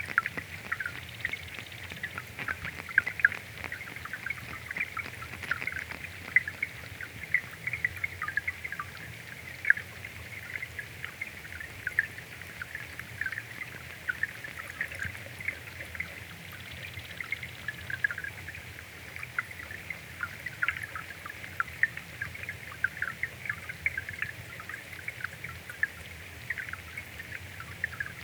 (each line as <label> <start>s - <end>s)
Shallow water 0.0s - 28.2s
Thousands of wriggling tadpoles 0.0s - 28.2s